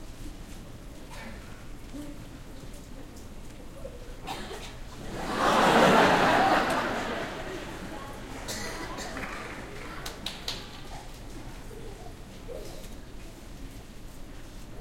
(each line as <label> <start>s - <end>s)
Crowd Laughing 5.0s - 10.8s